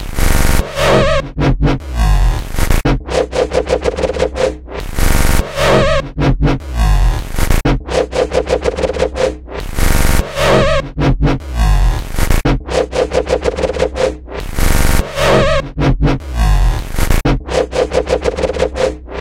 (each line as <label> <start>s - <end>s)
Dubstep Wobble Bass 0.0s - 19.2s